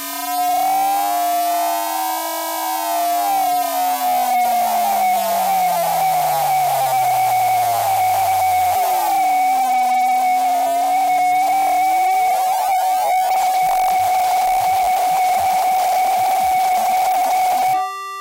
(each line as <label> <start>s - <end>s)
scream 3.2s - 16.6s